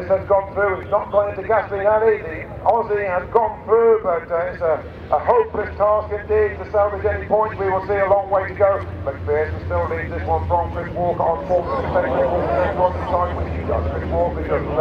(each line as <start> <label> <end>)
0.0 commentary 14.8